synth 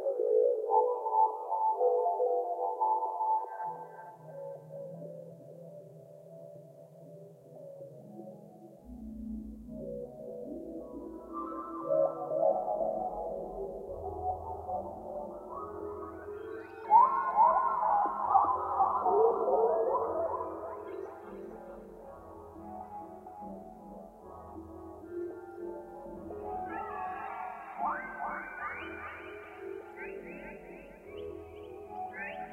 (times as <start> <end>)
8.8 32.5